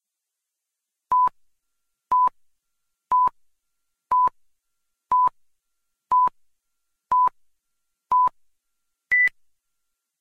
'pre-movie countdown' beeps 0:01.1 - 0:01.4
'pre-movie countdown' beeps 0:02.1 - 0:02.4
'pre-movie countdown' beeps 0:03.1 - 0:03.4
'pre-movie countdown' beeps 0:04.1 - 0:04.4
'pre-movie countdown' beeps 0:05.1 - 0:05.4
'pre-movie countdown' beeps 0:06.1 - 0:06.4
'pre-movie countdown' beeps 0:07.1 - 0:07.4
'pre-movie countdown' beeps 0:08.1 - 0:08.4
'pre-movie countdown' beeps 0:09.1 - 0:09.4

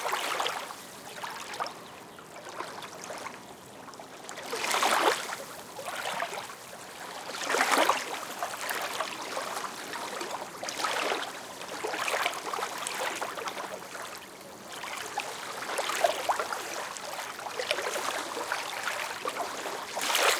lake 0:00.0 - 0:20.3
wind 0:00.0 - 0:20.3

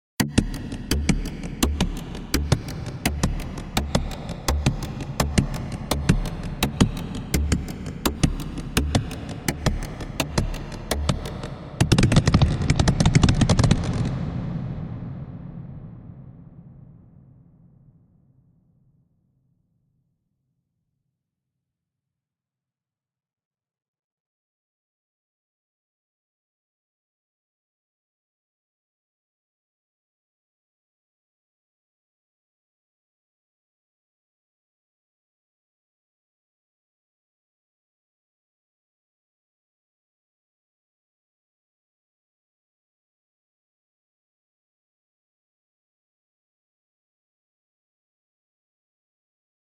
Wood percussion 0:00.2 - 0:15.0

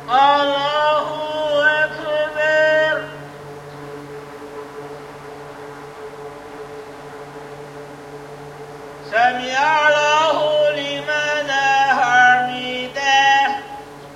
Muslim pray 0:00.0 - 0:03.5
background drone sound was produced by an array of misting fans 0:00.0 - 0:14.1
Muslim pray 0:09.0 - 0:14.1

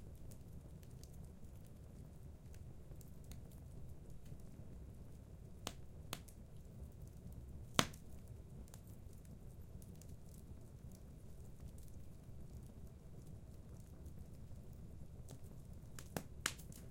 fireplace 0:00.0 - 0:16.9

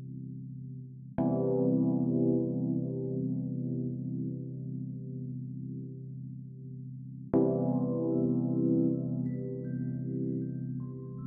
music 0:00.0 - 0:11.2

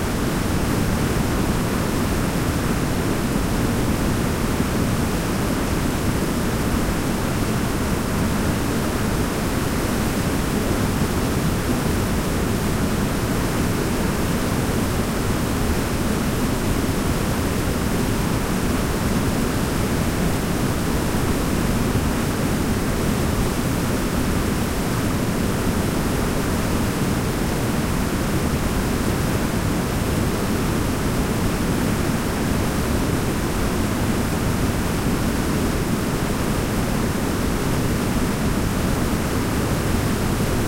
waterfall 0:00.0 - 0:40.6

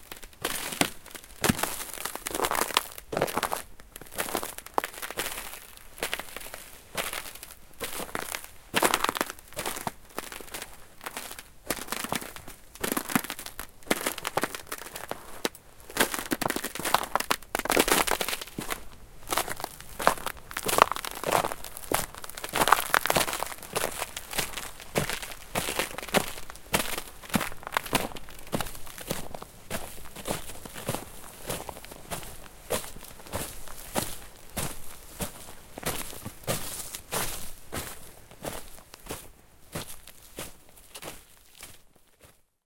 Walking on Crunchy Ice 0:00.0 - 0:42.5

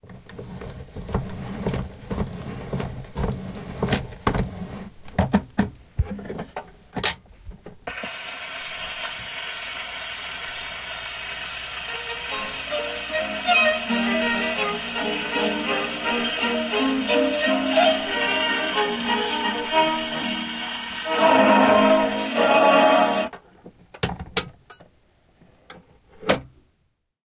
crackle-noise 0:07.8 - 0:23.5
hiss 0:07.9 - 0:23.3
vinyl record-player stopping 0:07.9 - 0:23.4
gramophone 0:11.8 - 0:23.3

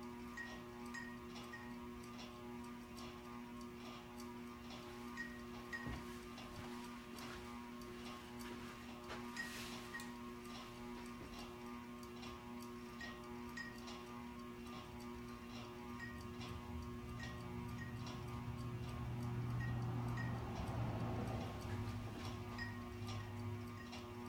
Ceiling fans 0:00.0 - 0:24.2

